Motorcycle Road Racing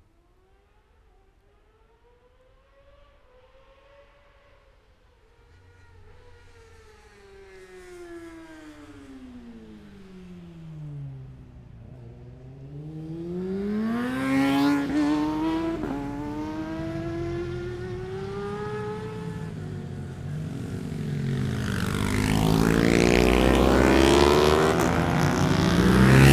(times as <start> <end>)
5.3 26.3